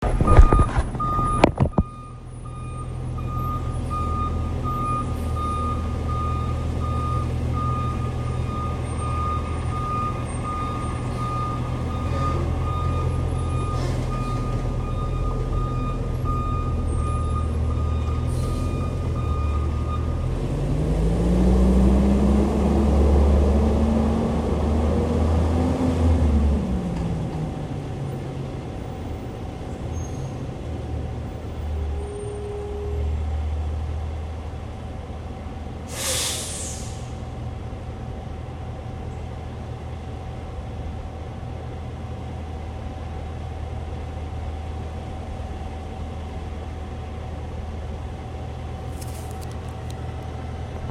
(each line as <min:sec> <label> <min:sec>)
0:00.0 traffic 0:50.9
0:00.0 Truck Backing Up 0:50.9